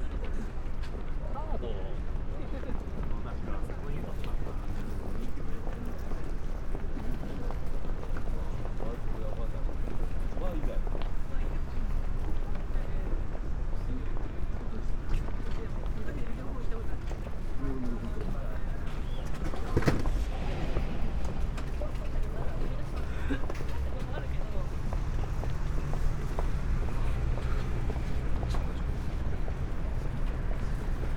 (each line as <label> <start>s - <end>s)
people walking around with lunch packages within white plastic bags 0.0s - 20.6s